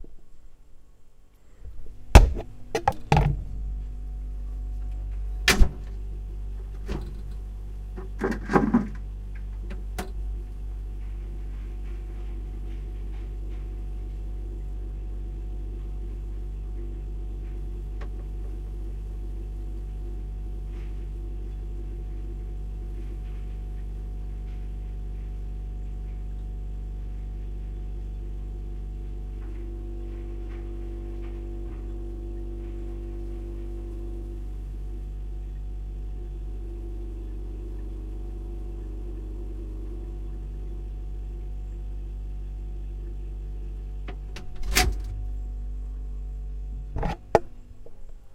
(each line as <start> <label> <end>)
0.0 refrigerator 48.3
5.5 door 5.9
44.3 door 45.2
47.0 door 48.1